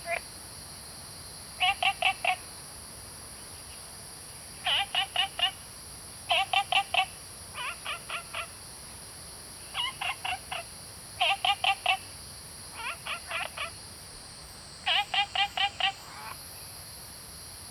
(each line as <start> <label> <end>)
0.0 Frogs chirping 0.4
0.0 Cicada sounds 17.7
1.4 Frogs chirping 2.6
3.4 Frogs chirping 16.9
14.8 Birds singing 16.4